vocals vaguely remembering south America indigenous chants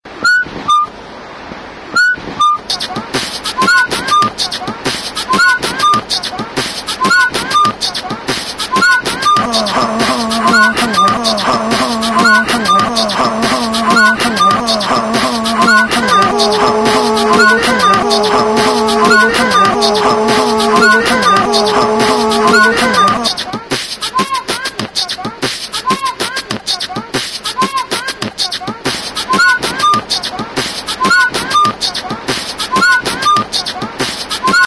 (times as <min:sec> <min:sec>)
0:03.5 0:28.5